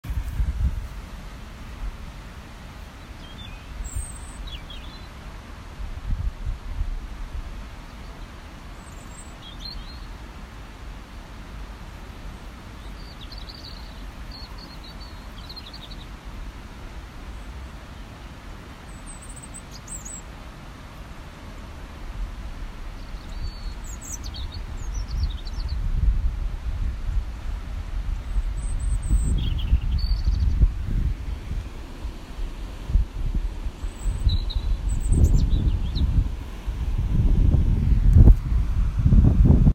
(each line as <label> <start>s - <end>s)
stream 0.0s - 39.7s
Birds singing in a tree 2.7s - 5.5s
Birds singing in a tree 7.4s - 10.6s
Birds singing in a tree 11.5s - 26.2s
Birds singing in a tree 28.0s - 38.4s